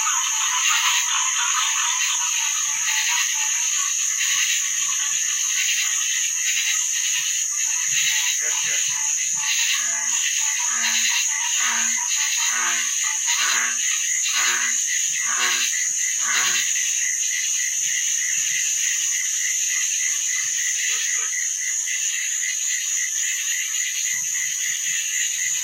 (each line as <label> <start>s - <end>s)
Swamp Crickets 0.0s - 25.6s